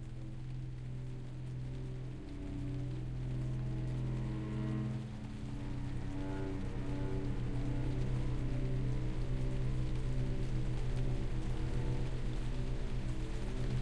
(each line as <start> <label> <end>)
0.0 cello 13.8
0.0 rain 13.8
0.0 violin 13.8